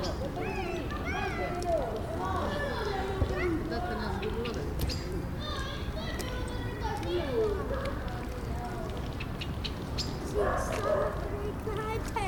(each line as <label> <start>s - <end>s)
children 0.0s - 12.2s
ranting blackbirds 9.0s - 11.2s
dogs 10.4s - 11.3s